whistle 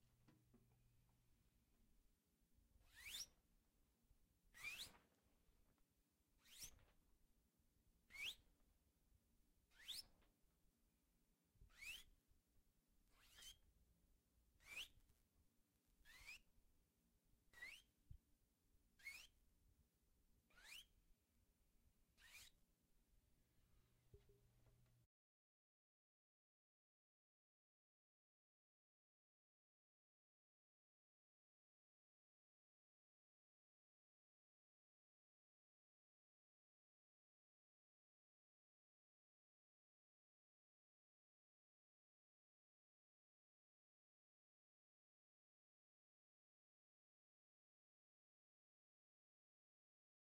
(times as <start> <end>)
2.9 3.3, 4.6 5.0, 8.1 8.4, 9.8 10.0, 11.7 12.1, 17.6 17.9, 19.0 19.3, 20.5 20.9